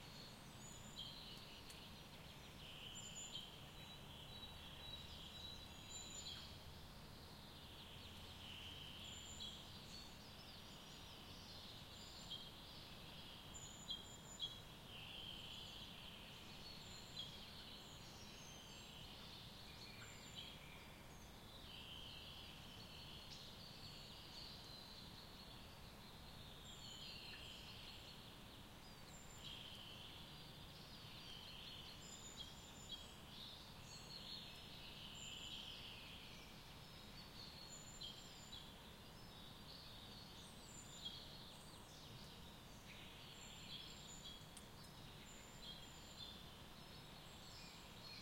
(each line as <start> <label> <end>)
0.0 Birdsong 48.2
0.0 slight suburbia background hum 48.2